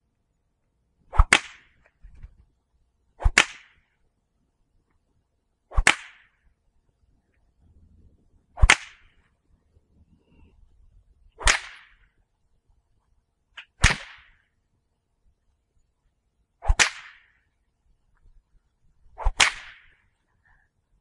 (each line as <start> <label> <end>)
1.1 Whip Cracks 2.3
3.2 Whip Cracks 3.9
5.7 Whip Cracks 6.4
8.6 Whip Cracks 9.2
11.4 Whip Cracks 12.1
13.6 Whip Cracks 14.4
16.6 Whip Cracks 17.4
19.2 Whip Cracks 20.0